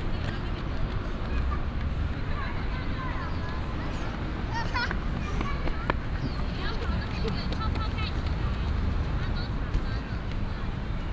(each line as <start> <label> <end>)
0.0 Traffic sound 11.1
2.4 Child 6.8